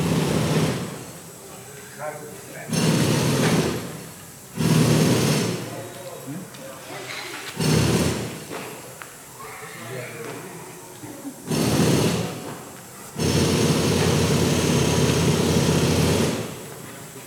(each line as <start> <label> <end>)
6.3 reactions of rare pedestrians 13.7